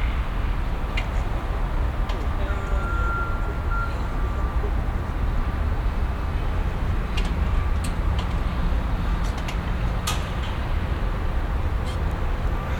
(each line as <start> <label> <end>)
0.0 wind 12.7
0.0 workers in a secured road 12.7
2.5 beeping sound of a construction car driving backwards 4.7